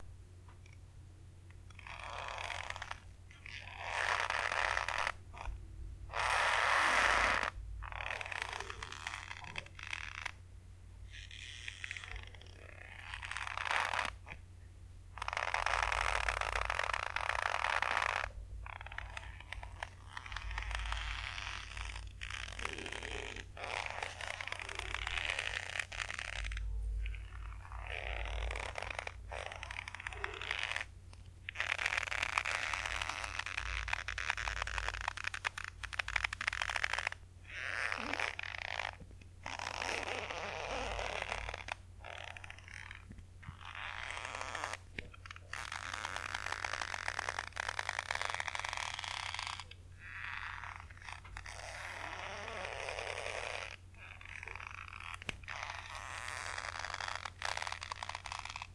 Rope under tension 0:01.7 - 0:10.4
Rope under tension 0:11.0 - 0:14.4
Rope under tension 0:15.1 - 0:58.7

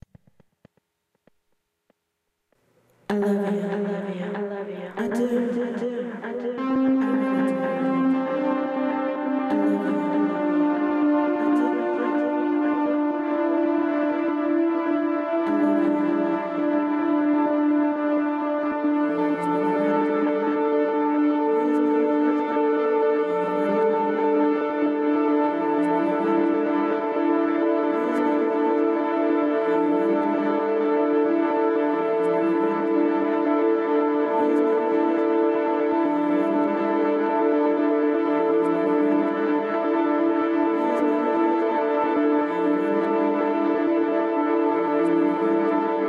woman 0:03.1 - 0:08.4
woman 0:09.4 - 0:10.6
woman 0:11.3 - 0:12.6
woman 0:15.4 - 0:16.6
woman 0:19.0 - 0:20.5
woman 0:21.5 - 0:22.6
woman 0:23.2 - 0:24.4
woman 0:25.5 - 0:26.8
woman 0:27.9 - 0:28.6
woman 0:29.6 - 0:30.7
woman 0:31.8 - 0:33.2
woman 0:34.3 - 0:35.2
woman 0:42.4 - 0:43.6

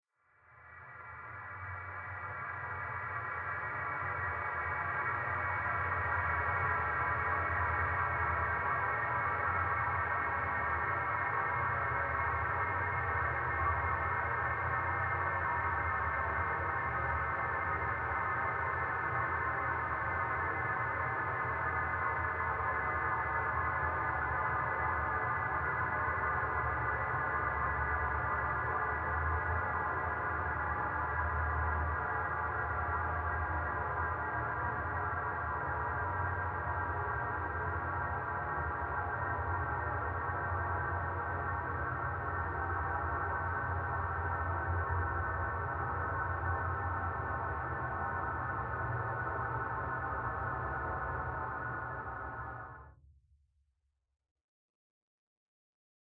drone 0:00.6 - 0:52.9

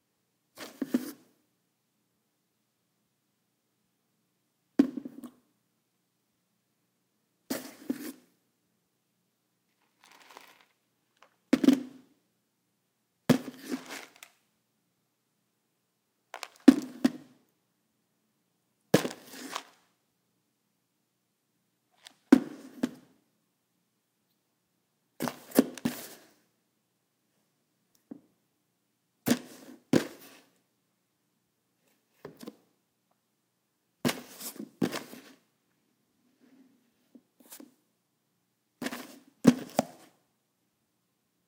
opening and closing the lid of a large piece of plastic tupperware 0:13.3 - 0:14.4
opening and closing the lid of a large piece of plastic tupperware 0:32.2 - 0:32.6
opening and closing the lid of a large piece of plastic tupperware 0:38.8 - 0:40.1

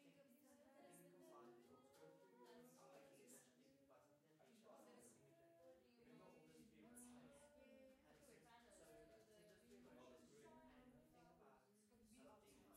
small group of people talking 0:00.0 - 0:12.7

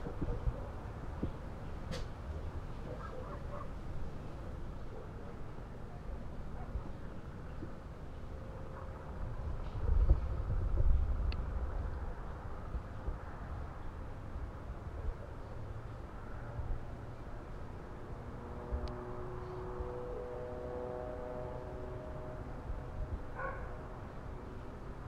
light breeze 0:00.0 - 0:25.0
dogs barking 0:02.9 - 0:03.8
dogs barking 0:23.4 - 0:23.8

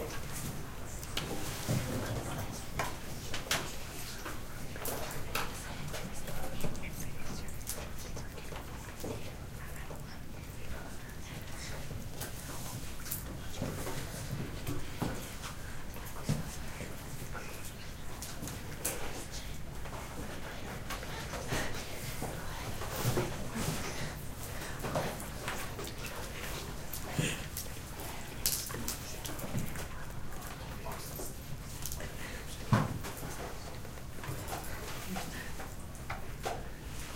Students in class, whispering and writing 0:00.0 - 0:37.1

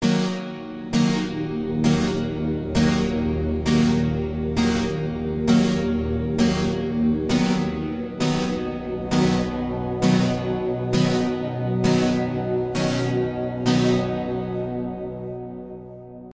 music 0:00.0 - 0:16.3

